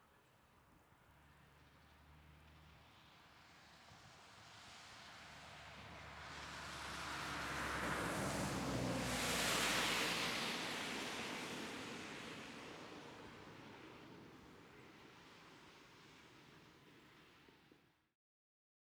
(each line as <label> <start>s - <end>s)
Car passing by 1.1s - 17.9s